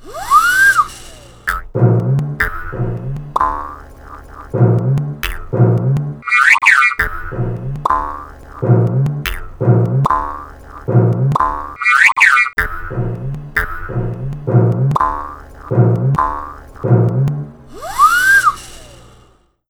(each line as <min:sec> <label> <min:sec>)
0:00.0 Zings 0:19.2
0:00.0 Comedic Bounces 0:19.3
0:00.0 slide whistle 0:01.6
0:00.1 jaw harp 0:19.0
0:17.7 slide whistle 0:19.0